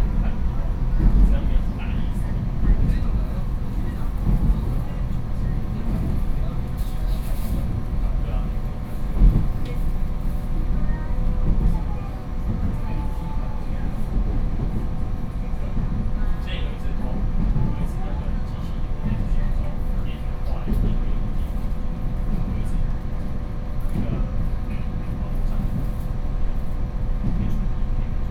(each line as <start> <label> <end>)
0.0 On the train 28.3